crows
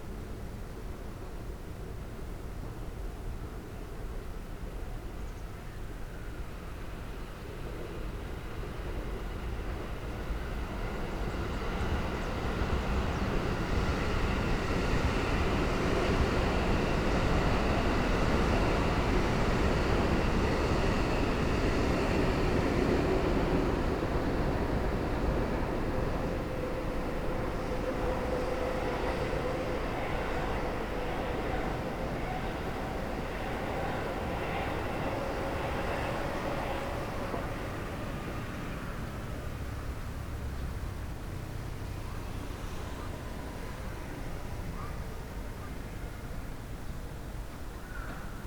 47.8 48.4

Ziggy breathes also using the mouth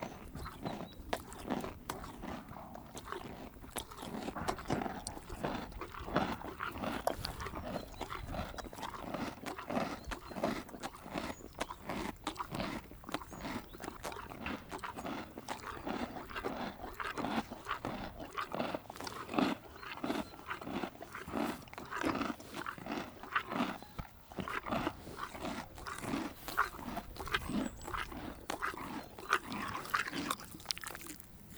4.5 10.3, 24.2 31.5

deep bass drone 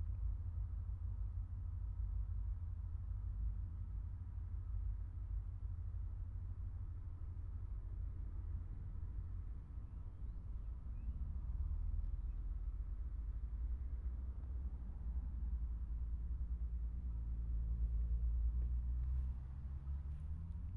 7.0 20.7

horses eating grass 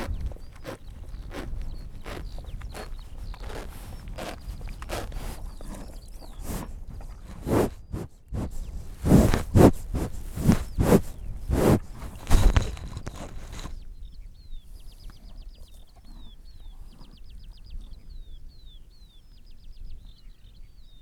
0.0 13.9

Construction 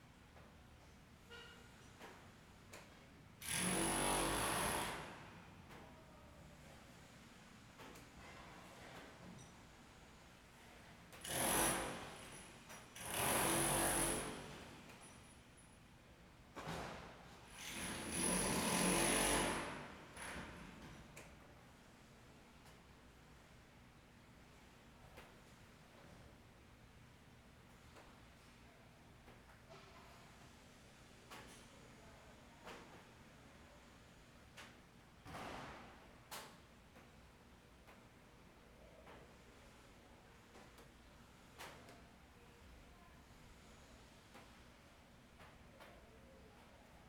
1.3 5.8, 11.1 15.7, 16.6 21.3

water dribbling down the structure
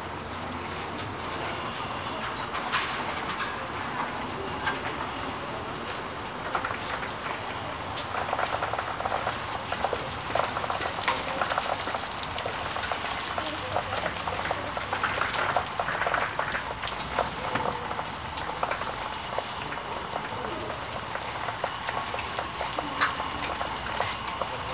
8.0 24.7

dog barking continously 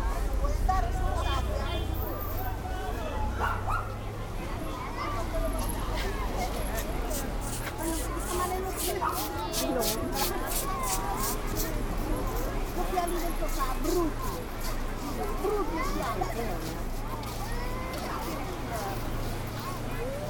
3.4 4.0

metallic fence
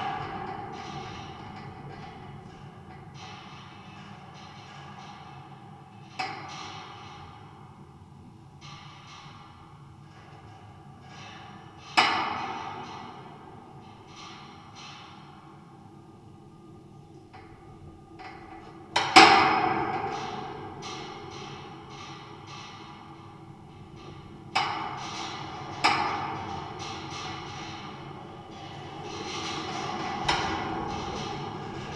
21.0 31.9

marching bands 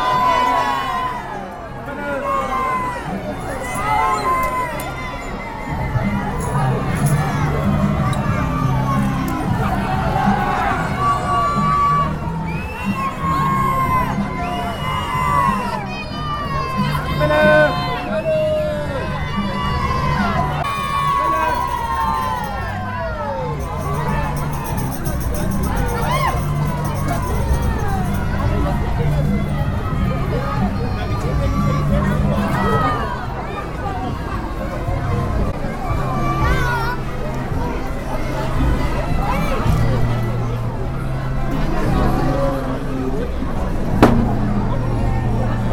23.6 29.6

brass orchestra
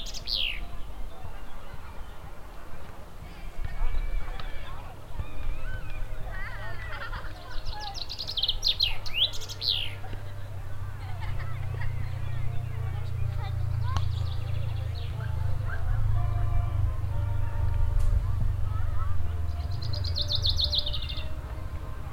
14.9 22.1

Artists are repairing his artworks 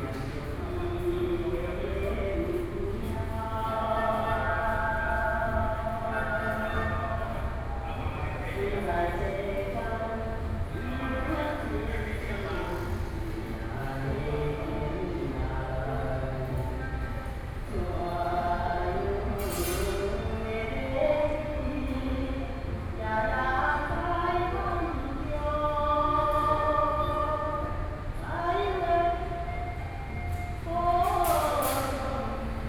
11.3 20.5, 29.5 32.6

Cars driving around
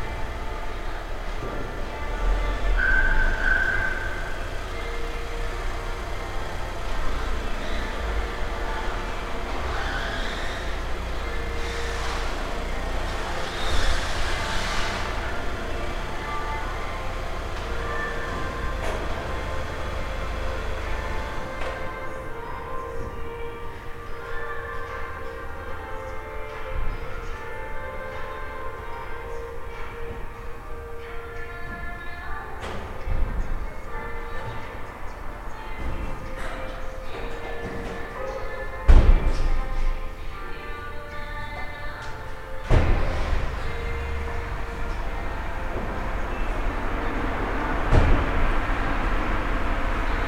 0.0 25.6, 42.5 50.2

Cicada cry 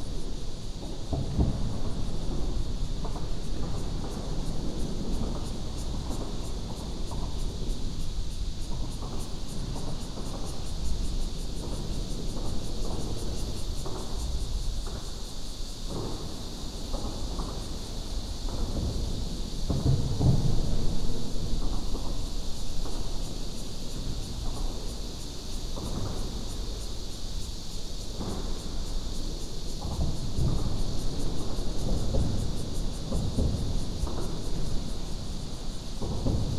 7.7 18.9

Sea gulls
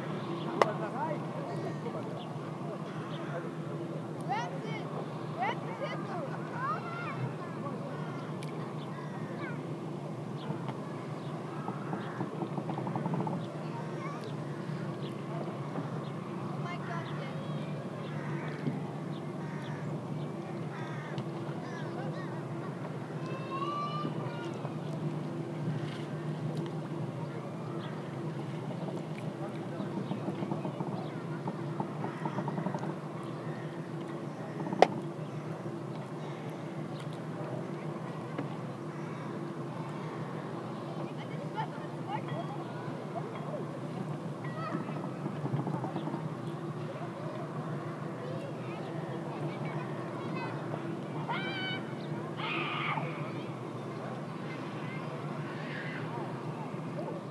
49.6 53.2

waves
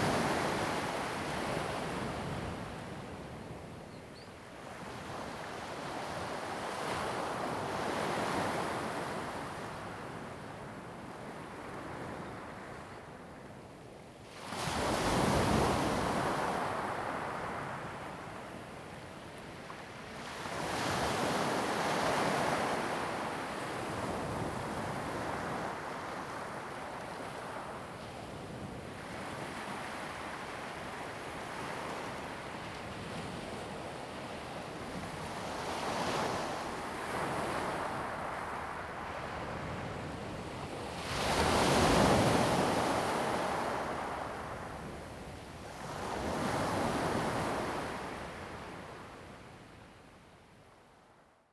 28.9 49.2

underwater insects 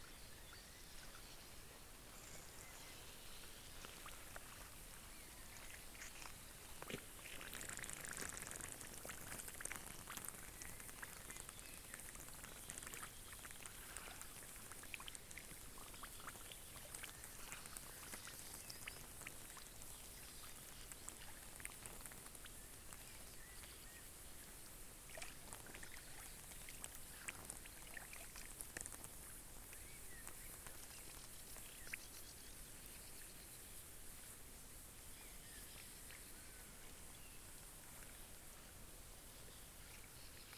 2.1 34.4

